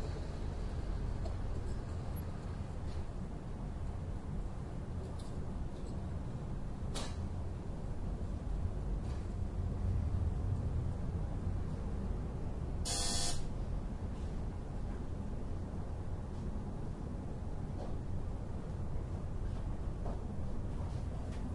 0.0s urban noise 21.5s

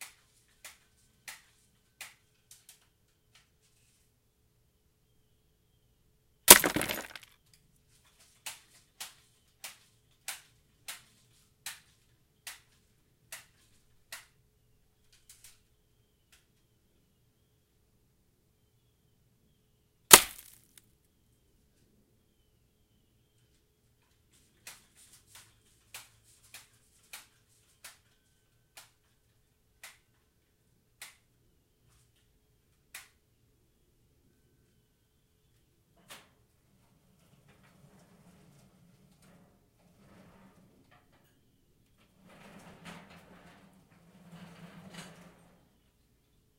6.5s impact sounds on the bottle 7.2s
6.5s shatter 7.2s
6.5s gun percussive noise 7.3s
20.1s impact sounds on the bottle 20.6s
20.1s gun percussive noise 20.7s
20.1s shatter 20.7s

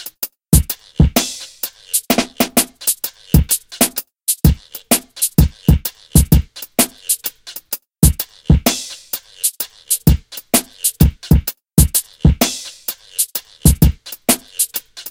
0.0s drums 15.1s

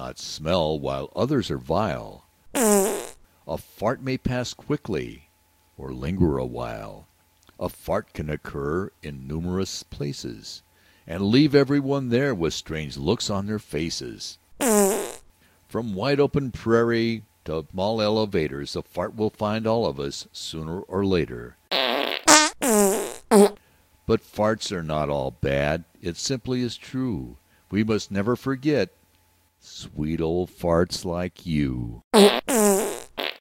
2.6s farts 3.2s
14.6s farts 15.2s
21.7s farts 23.6s
32.2s farts 33.4s

